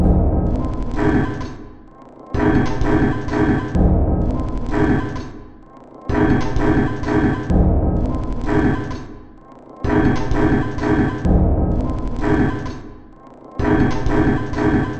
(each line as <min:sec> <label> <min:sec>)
0:00.0 Drum Loop 0:01.2